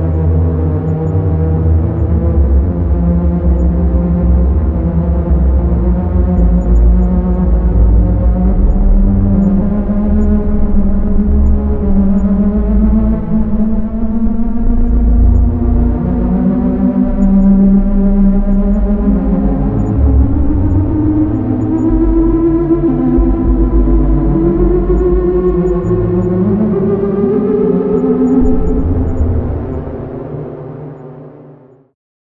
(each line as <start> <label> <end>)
0.0 synth 31.9